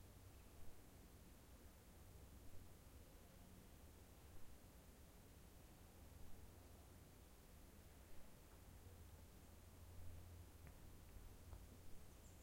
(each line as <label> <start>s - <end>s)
Birdsong 12.0s - 12.4s